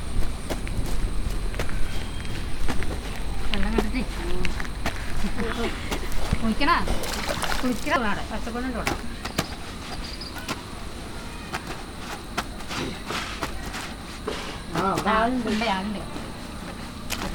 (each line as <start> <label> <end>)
0.0 Two women washing there clothes 17.3
0.0 boys playing cricket 17.3